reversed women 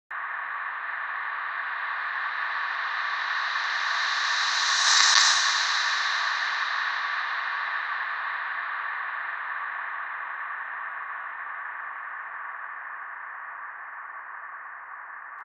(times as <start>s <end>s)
2.1s 8.4s